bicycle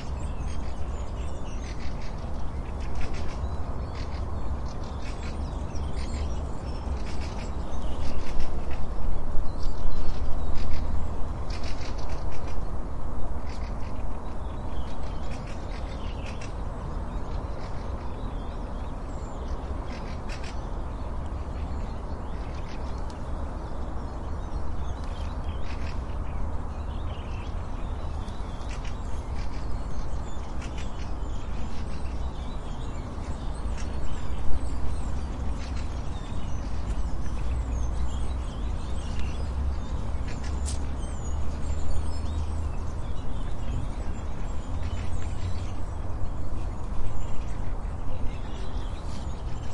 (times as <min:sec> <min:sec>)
0:00.0 0:12.7